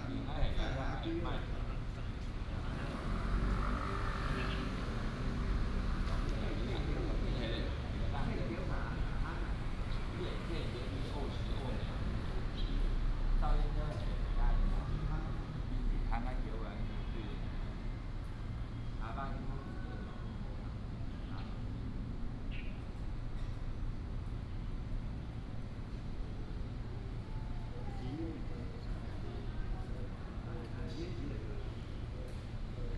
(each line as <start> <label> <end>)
1.3 traffic sound 21.2
22.5 bird sound 22.8